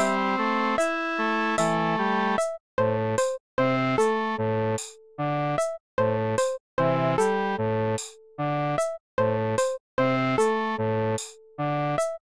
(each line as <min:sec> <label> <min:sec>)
0:00.0 melody 0:02.5